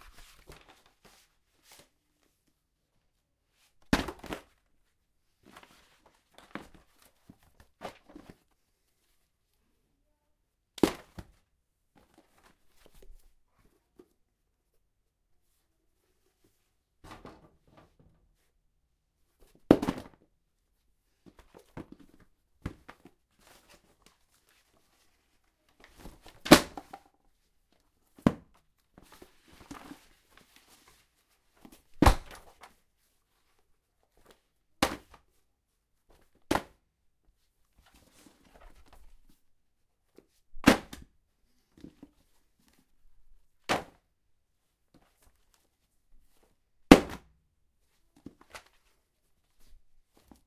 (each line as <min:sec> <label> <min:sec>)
0:17.0 Books dropping from bookshelf 0:18.2
0:19.7 Books dropping from bookshelf 0:20.2
0:25.8 Books dropping from bookshelf 0:27.1
0:31.6 Books dropping from bookshelf 0:32.8